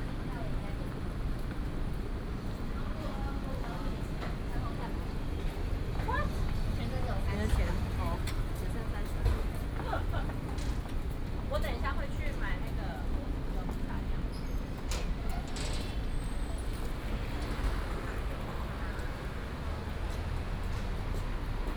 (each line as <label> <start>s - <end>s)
Traffic noise 0.0s - 21.7s
walking in the Street 0.0s - 21.7s